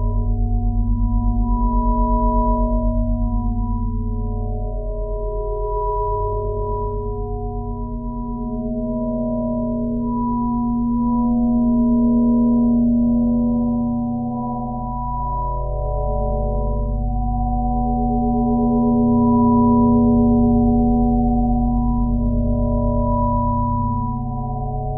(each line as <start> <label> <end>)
0.0 pure ambient sine wave 24.9